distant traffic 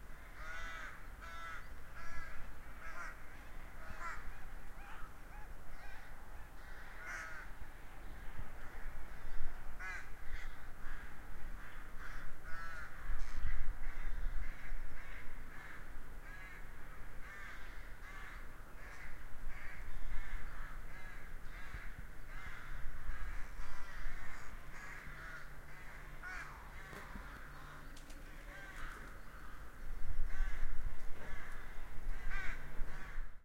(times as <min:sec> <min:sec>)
0:14.1 0:33.1